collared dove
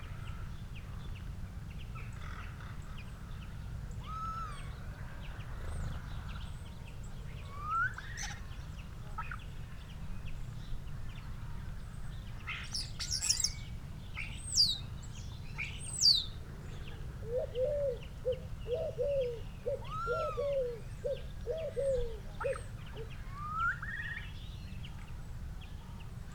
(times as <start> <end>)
16.6 23.1